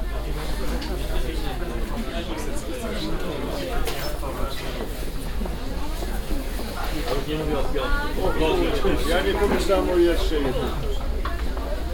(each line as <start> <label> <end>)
0.0 walking around a green market 11.9